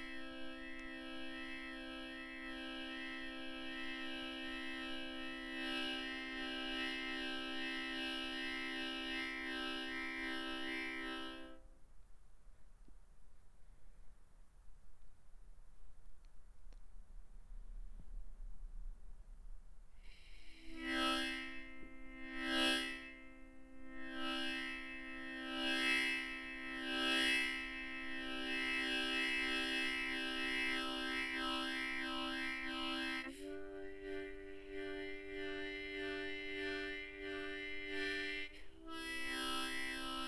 0.0s Frog Harmonica 11.6s
20.1s Frog Harmonica 40.2s

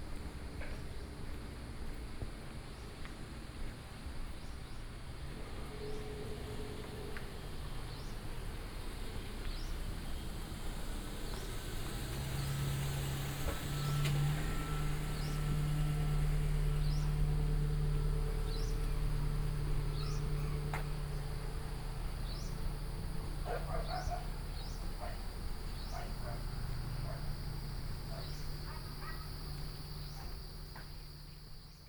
5.2s Traffic Sound 31.8s
11.2s Walking 31.7s

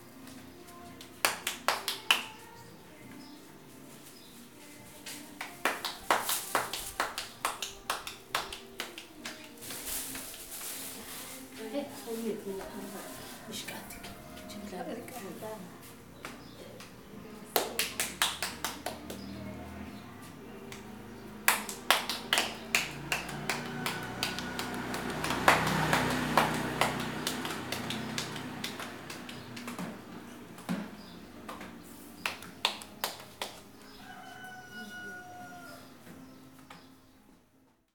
0.0s Tortillas 19.6s
20.7s Tortillas 34.3s

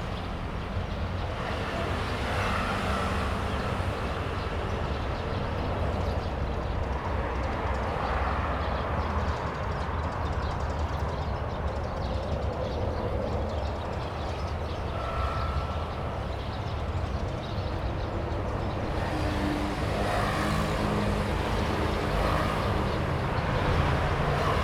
0.0s Traffic sound 24.6s
0.0s birds 24.6s

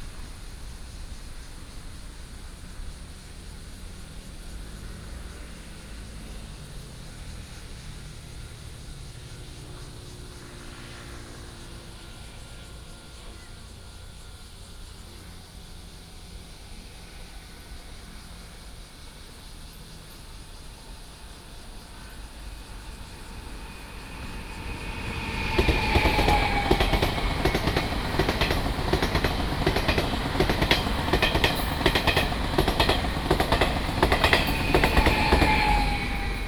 0.0s Insects sound 36.4s
0.0s train runs through 36.4s
0.0s Cicada sound 36.4s
16.2s Traffic sound 36.4s

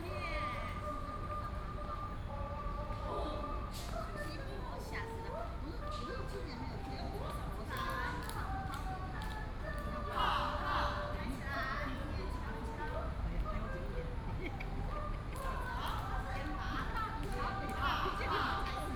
6.9s Group of elderly people doing aerobics 18.9s

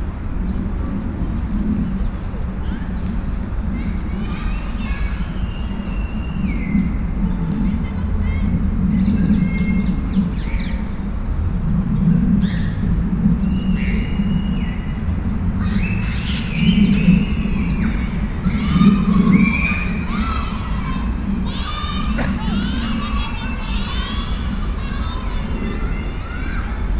0.8s Children playing 10.9s
0.8s people wandering 9.4s
15.0s Children playing 26.9s
20.6s people wandering 26.9s

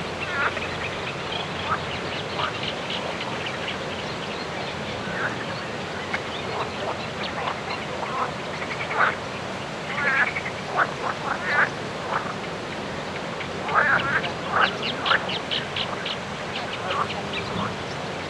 0.1s frogs 18.2s

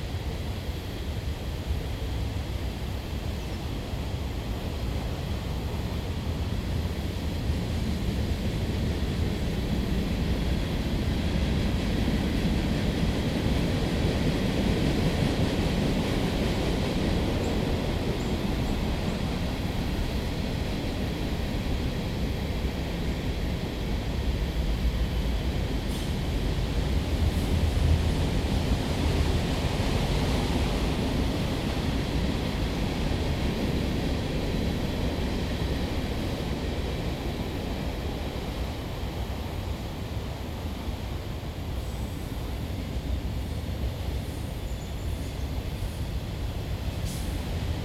0.0s freight train passing in the woods 47.8s

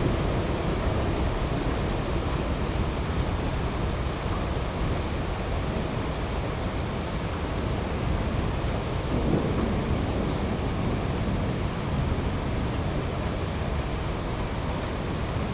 0.0s Heavy rain 15.5s
8.8s distant thunderstorm 12.8s

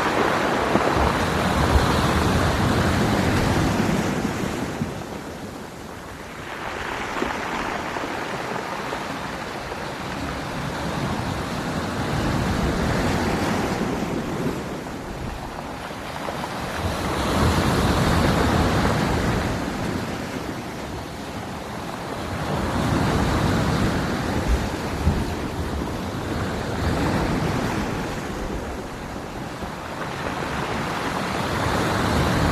0.0s waves crashing 32.5s

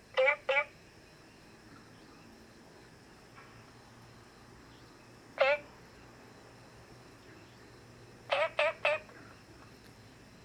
0.1s Frogs chirping 3.0s
4.2s Frogs chirping 9.8s

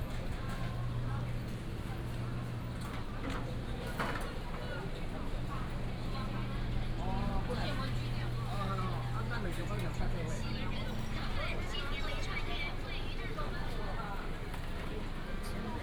0.0s Walking in the night market 15.8s

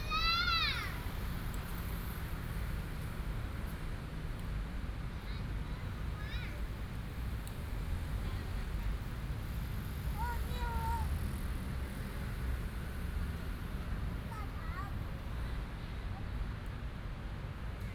0.0s Child 1.1s
0.0s Traffic sound 17.9s
5.2s Child 6.7s
10.1s Child 11.3s
14.2s Child 15.4s

